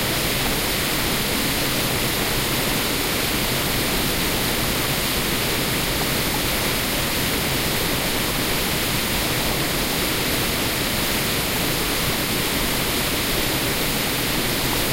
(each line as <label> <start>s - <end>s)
waterfall 0.0s - 14.9s